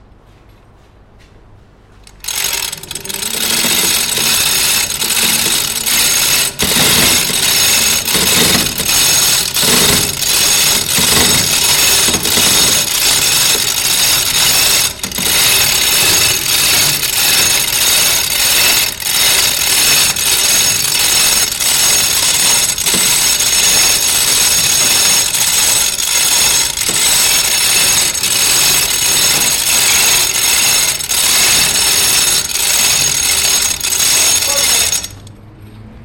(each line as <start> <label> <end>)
2.0 pulling shutter door's chain 35.3